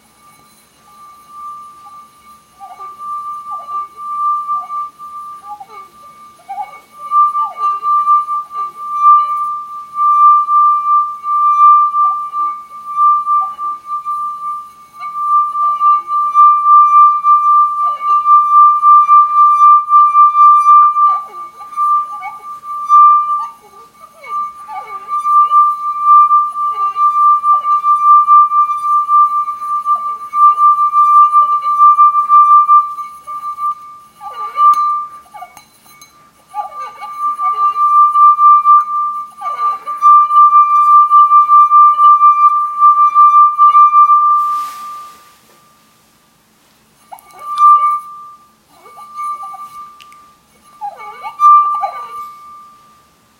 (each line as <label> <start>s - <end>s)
Wine Glass Resonance 0.0s - 46.2s
Wine Glass Resonance 46.8s - 53.3s